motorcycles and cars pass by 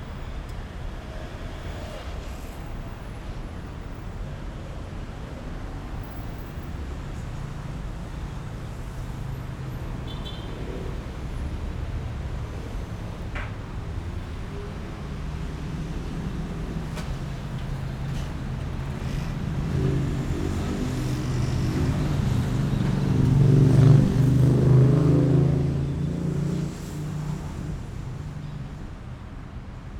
0:06.6 0:29.6

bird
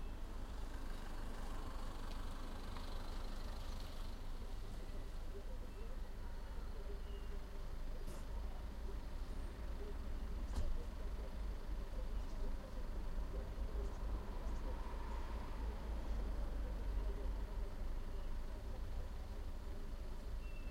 0:20.4 0:20.7

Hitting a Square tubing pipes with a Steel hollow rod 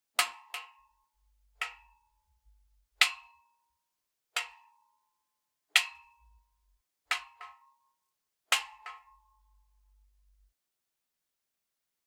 0:00.1 0:01.0, 0:01.6 0:02.2, 0:03.0 0:03.6, 0:04.4 0:04.8, 0:05.8 0:07.7, 0:08.5 0:09.9

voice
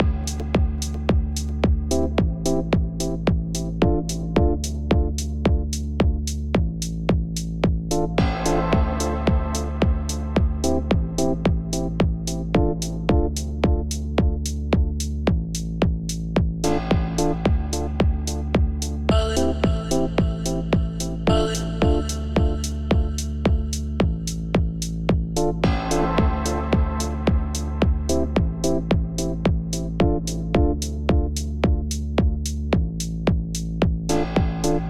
0:19.1 0:24.1

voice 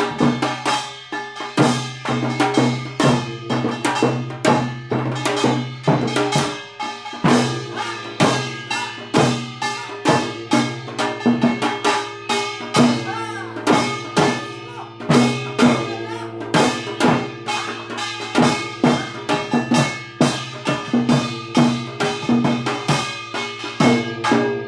0:12.8 0:16.8, 0:17.6 0:19.5

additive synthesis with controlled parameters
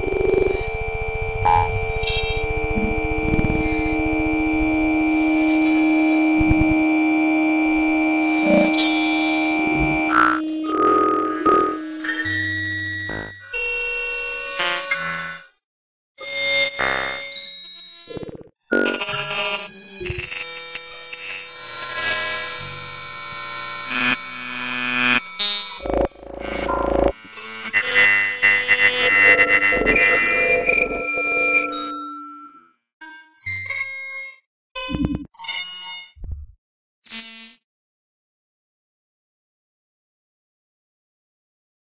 0:00.0 0:12.4, 0:23.2 0:32.5

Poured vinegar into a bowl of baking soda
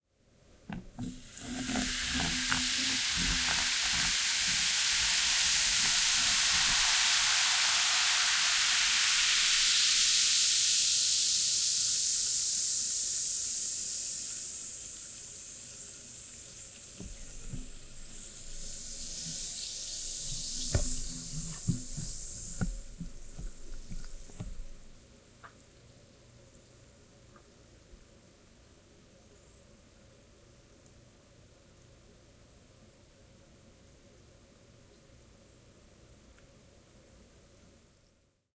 0:00.8 0:25.0

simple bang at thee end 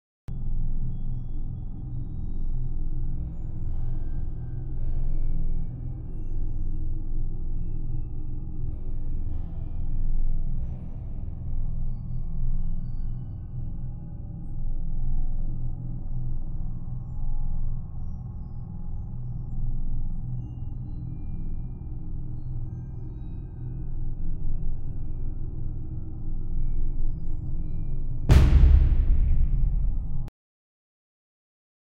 0:28.3 0:30.3

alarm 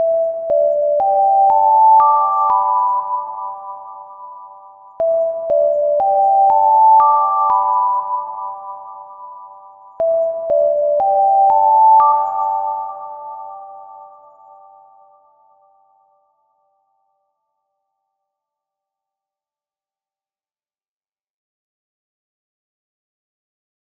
0:00.0 0:17.0

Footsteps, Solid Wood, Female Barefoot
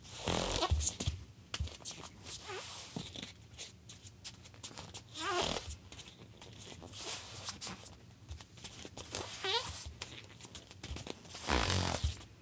0:00.5 0:02.2, 0:05.6 0:12.4

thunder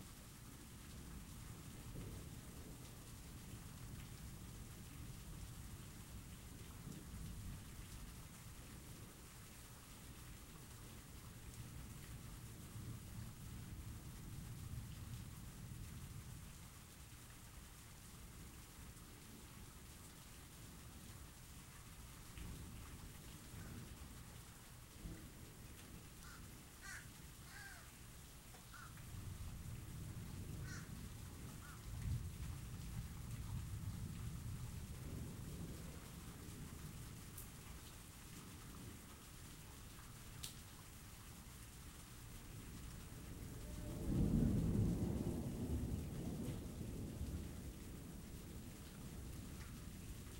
0:43.4 0:49.4

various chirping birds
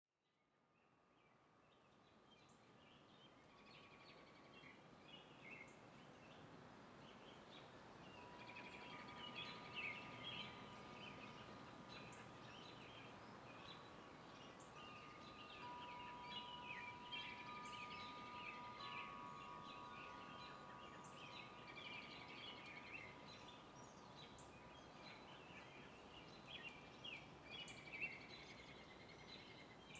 0:14.4 0:24.5

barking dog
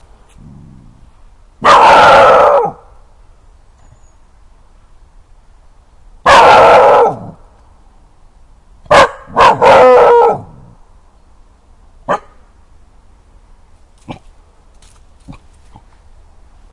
0:01.6 0:02.8, 0:06.3 0:07.3, 0:08.9 0:10.6

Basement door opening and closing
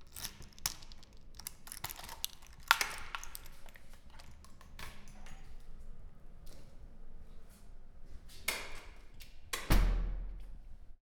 0:08.6 0:10.6

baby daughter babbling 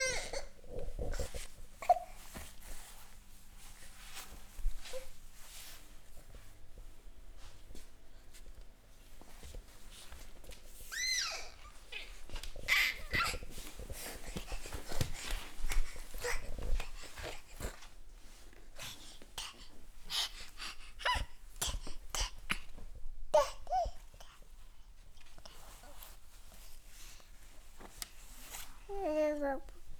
0:28.9 0:29.7

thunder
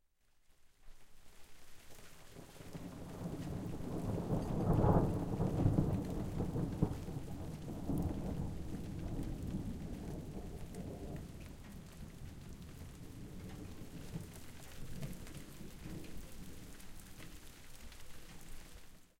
0:02.4 0:17.5

